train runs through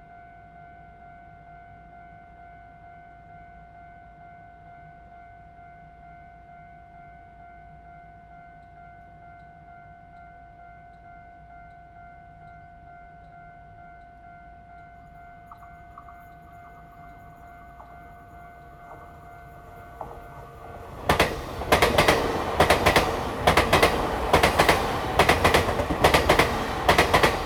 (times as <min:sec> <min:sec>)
0:15.0 0:27.4